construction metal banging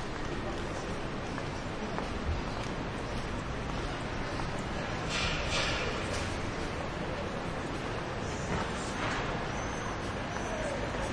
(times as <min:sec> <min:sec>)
0:05.0 0:06.4